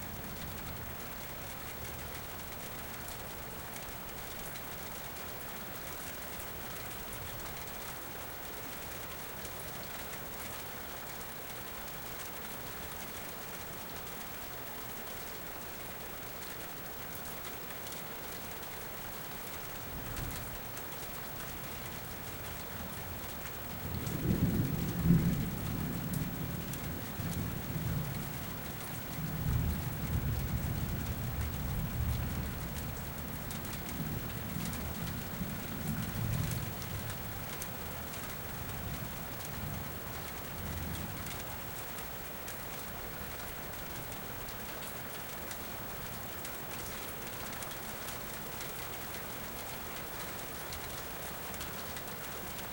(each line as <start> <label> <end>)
23.8 Thunder 32.9